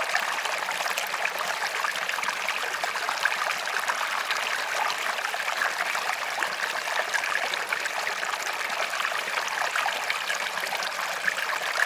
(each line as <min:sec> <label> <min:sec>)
0:00.0 River Stream 0:11.8